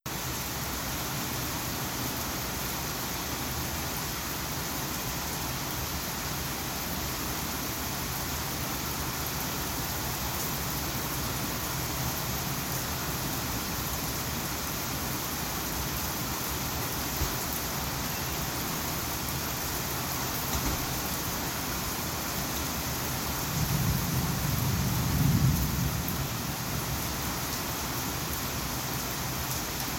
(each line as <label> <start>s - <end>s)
thunder rumbles 23.6s - 26.4s